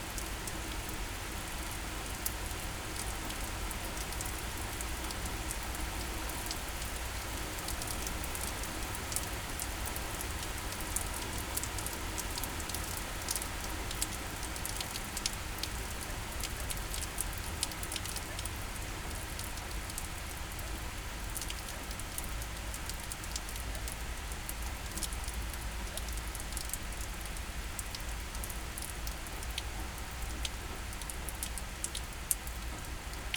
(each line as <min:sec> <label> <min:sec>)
0:00.0 hum of the city 0:33.3
0:00.1 rain shower 0:33.3